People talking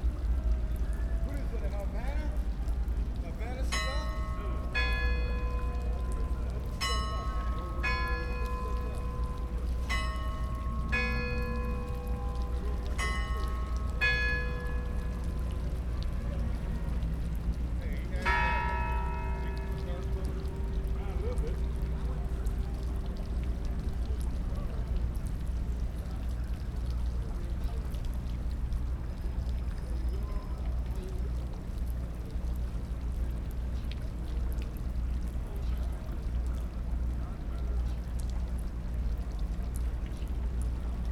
0:00.2 0:28.2, 0:29.6 0:32.1

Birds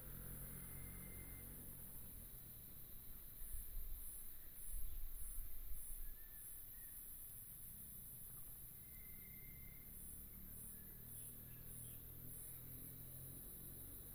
0:08.4 0:13.3

